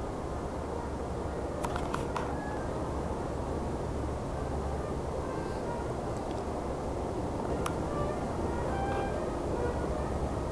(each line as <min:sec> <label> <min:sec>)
0:07.8 traditional brass ensemble 0:10.5